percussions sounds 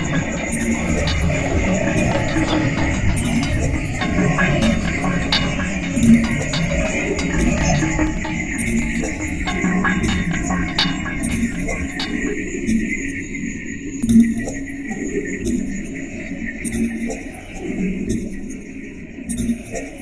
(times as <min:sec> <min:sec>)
0:00.0 0:13.2